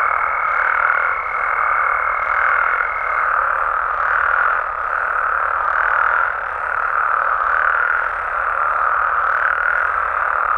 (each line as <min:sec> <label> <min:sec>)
0:00.0 toads and frogs are singing 0:10.5